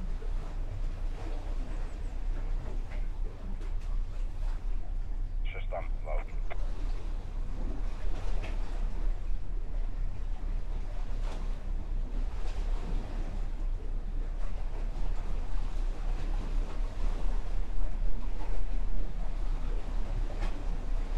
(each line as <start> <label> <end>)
1.6 marine radio conversations 7.6